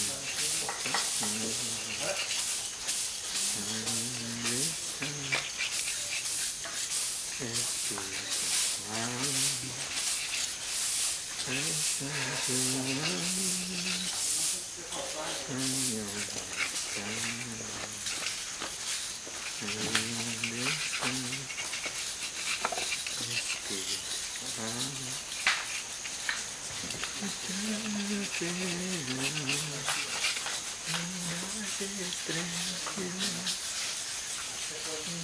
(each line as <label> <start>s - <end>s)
scraping of Banisteriopsis caapi 0.0s - 35.2s
songs 11.4s - 14.3s
songs 27.1s - 30.1s